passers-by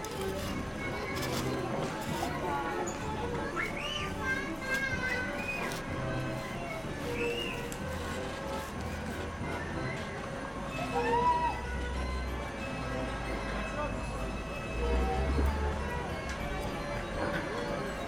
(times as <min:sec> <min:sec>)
0:10.2 0:18.0